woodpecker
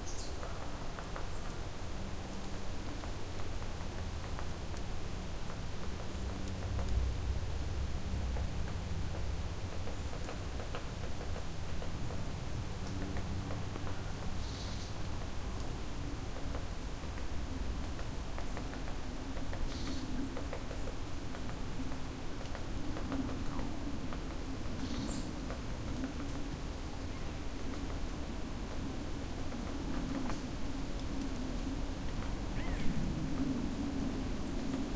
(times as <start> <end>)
17.8 28.0, 32.2 33.5